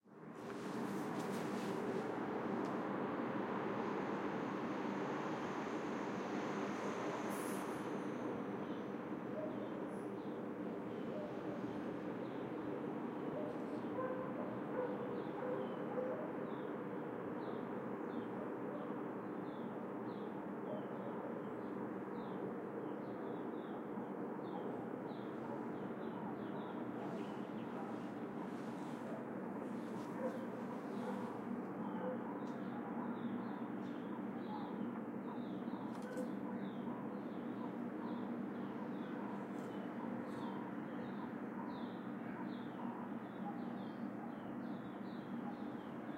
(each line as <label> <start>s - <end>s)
wind 0.0s - 46.1s
noise from the industrial aircon 0.1s - 46.1s
distant dog 11.0s - 11.8s
distant dog 13.3s - 16.6s
distant dog 24.4s - 46.1s
garden bird sounds 24.5s - 46.1s